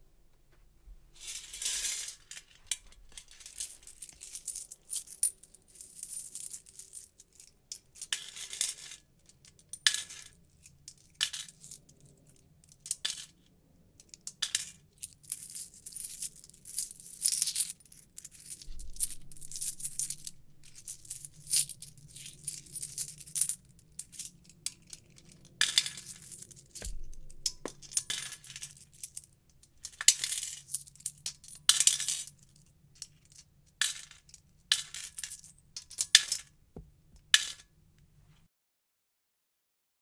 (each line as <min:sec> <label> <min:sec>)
0:03.1 coins in piggy bank 0:09.0
0:09.6 coins in piggy bank 0:13.4
0:14.2 coins in piggy bank 0:36.5
0:15.0 coins jingle 0:25.0
0:25.7 coins jingle 0:29.1